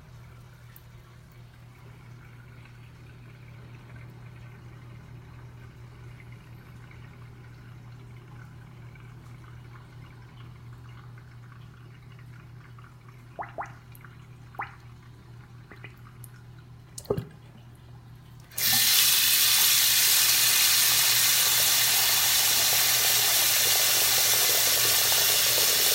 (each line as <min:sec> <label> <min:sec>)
0:18.4 water faucet running 0:25.9